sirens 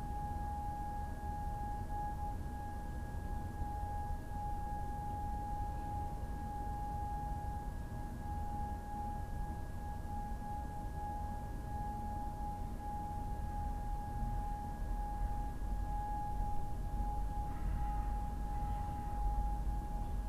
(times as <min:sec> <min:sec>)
0:12.3 0:20.2